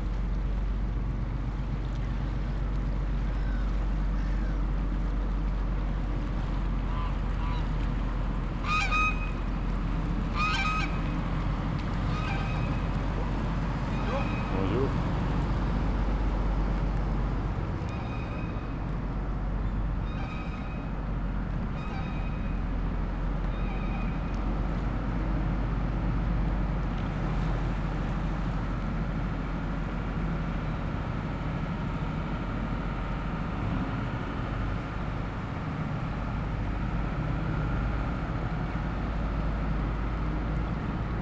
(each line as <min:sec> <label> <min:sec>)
0:00.0 Boat passing through the canal lock 0:41.2
0:08.6 geese protesting loudly 0:09.4
0:10.3 geese protesting loudly 0:11.1
0:12.0 geese protesting loudly 0:15.0